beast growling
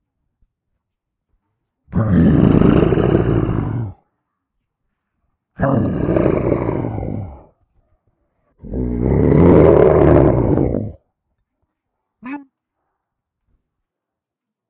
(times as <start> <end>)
1.9 4.0, 5.6 7.5, 8.6 11.0